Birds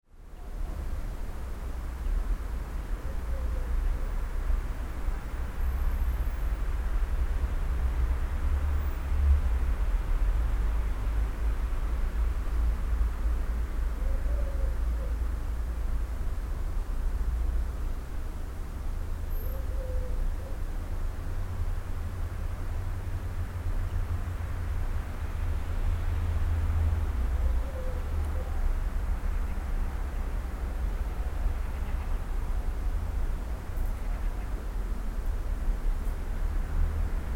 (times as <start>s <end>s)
27.4s 32.6s, 33.7s 34.9s